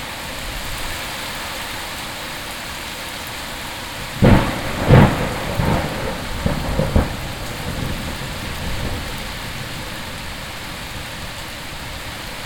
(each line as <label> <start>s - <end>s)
clashing rain 0.0s - 12.4s
thunder echoing in the valley 4.2s - 10.4s